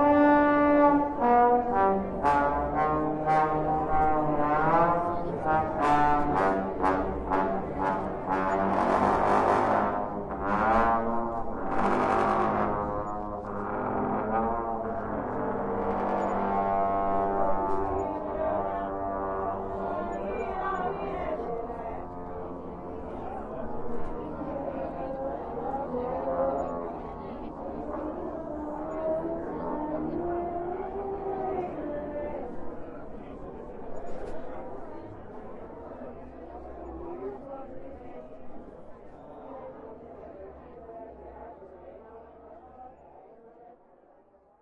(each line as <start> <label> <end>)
0.0 band 20.1